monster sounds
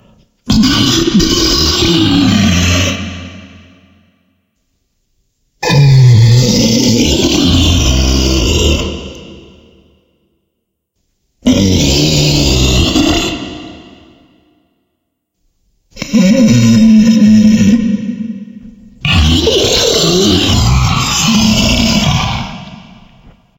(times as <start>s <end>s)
0.5s 3.9s, 5.6s 10.0s, 11.4s 14.5s, 16.0s 23.4s